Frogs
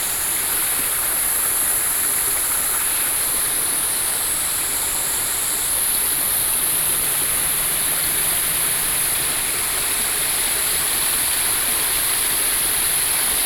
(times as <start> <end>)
4.4 13.0